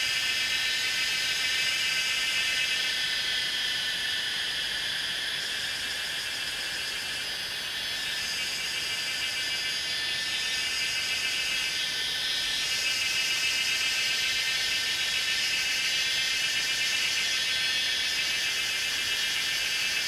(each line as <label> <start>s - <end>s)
Cicada sounds 0.0s - 20.0s